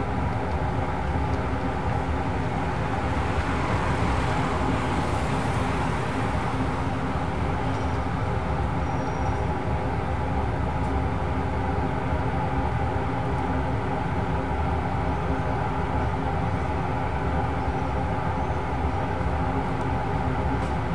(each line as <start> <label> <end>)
0.0 air-conditioning 20.9
0.0 car 20.9